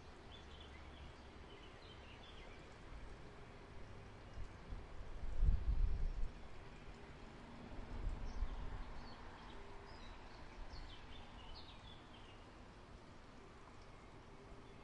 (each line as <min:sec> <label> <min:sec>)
0:00.0 Birds 0:04.7
0:08.1 Birds 0:12.7